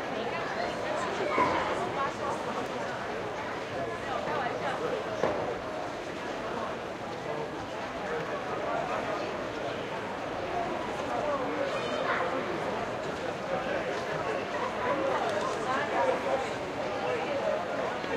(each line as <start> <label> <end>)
0.0 crowd 18.1